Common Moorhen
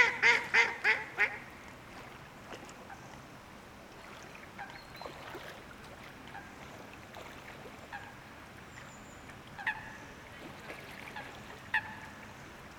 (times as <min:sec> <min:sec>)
0:04.6 0:05.5